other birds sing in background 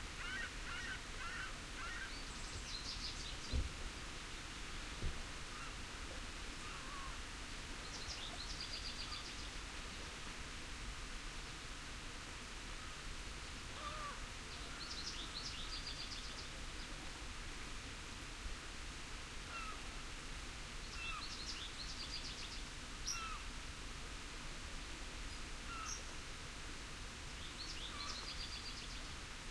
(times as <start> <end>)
0.2 5.8, 7.8 10.0, 13.8 17.0, 20.8 23.5, 25.3 26.1, 27.4 29.2